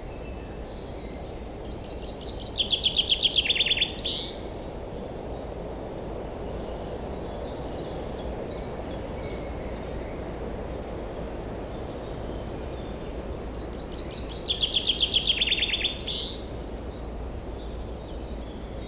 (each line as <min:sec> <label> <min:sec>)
0:01.6 call from the Common Chaffinch 0:04.5
0:13.6 call from the Common Chaffinch 0:16.6